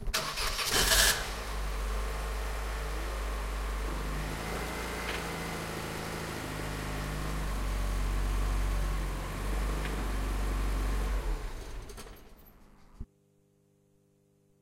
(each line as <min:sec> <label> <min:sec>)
0:00.0 engine starting 0:01.4
0:11.3 engine starting 0:13.0